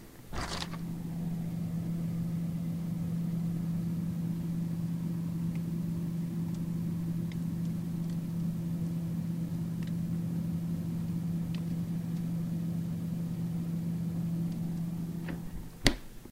0.0s indoor room tone 16.3s
0.3s freezer/refrigerator door opens 1.6s
15.2s freezer/refrigerator door opens 16.1s

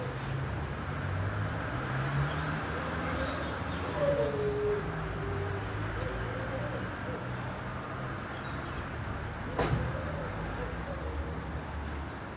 0.0s busy street 12.3s

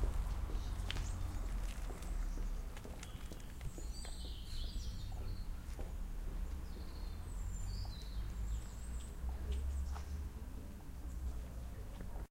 0.0s birds calling 5.7s

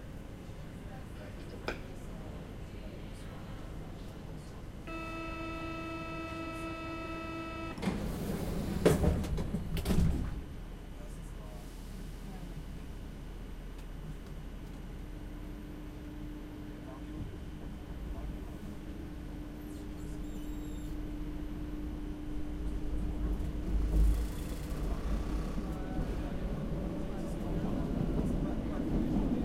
0.0s subway car 29.4s

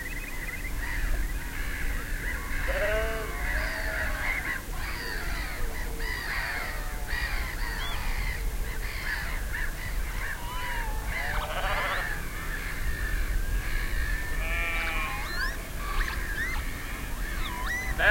0.6s seagulls 18.1s
14.4s sheep 16.6s
14.6s peewits 18.1s

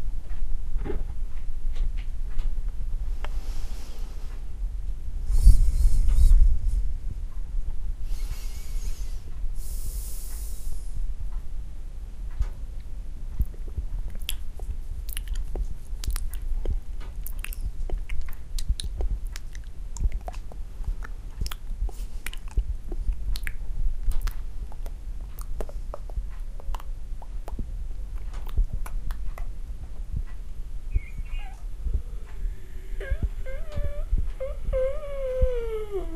13.4s smacking noises with my mouth 29.6s

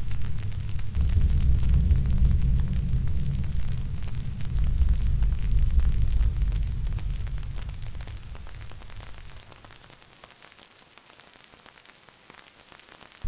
0.0s low heavy banging 9.7s
0.0s Thunder 9.9s
0.0s Rain 13.2s

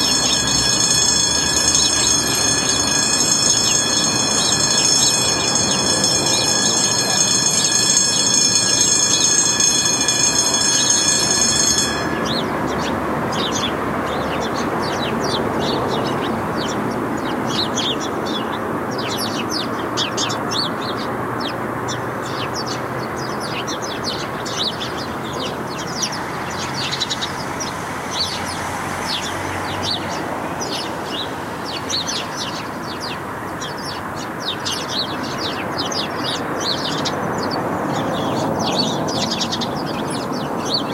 0.0s children 21.5s
0.0s sparrows 40.9s

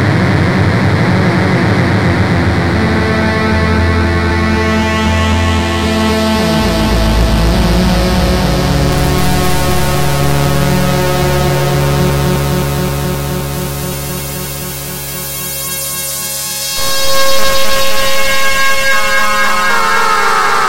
0.0s analog synthesizer 20.6s

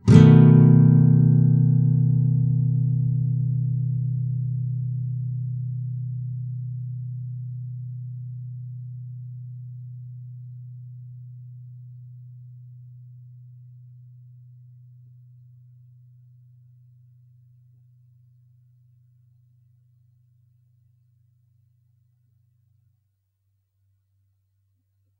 0.0s nylon guitar 13.1s

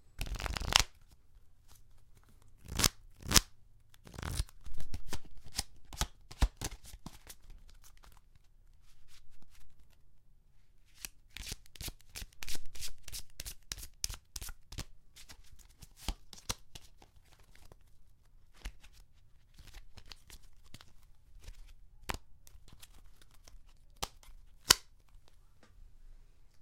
0.2s playing cards 0.9s

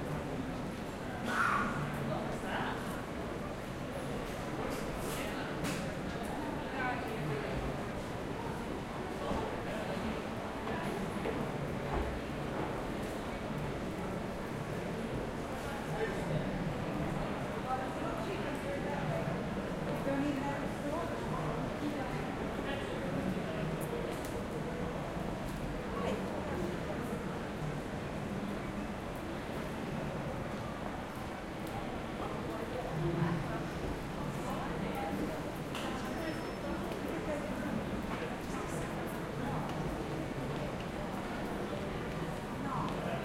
0.0s people chatting and walking by 43.2s

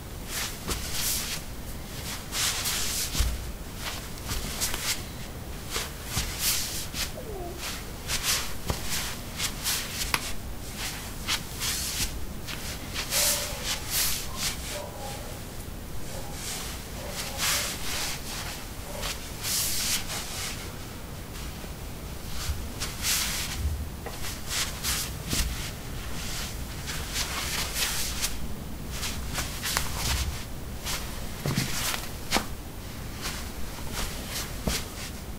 0.4s Shuffling on ceramic tiles 15.4s
16.0s Shuffling on ceramic tiles 21.6s
22.2s Shuffling on ceramic tiles 35.3s

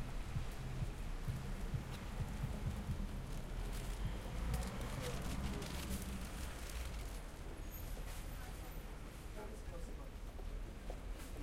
0.0s cars passing and stopping 9.1s
0.0s Pedestrians passing by talking to each other 11.4s
0.2s footsteps 8.3s

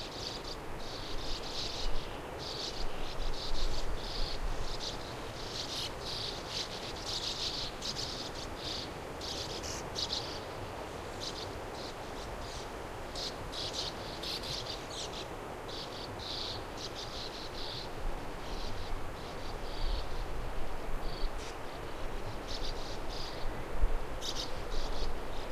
0.0s Sand Martins 25.5s

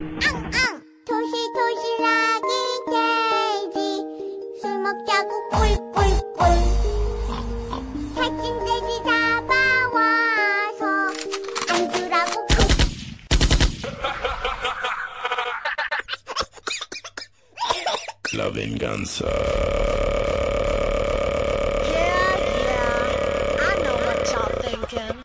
0.2s voice 0.8s
18.3s voice 19.6s
21.8s voice 25.2s

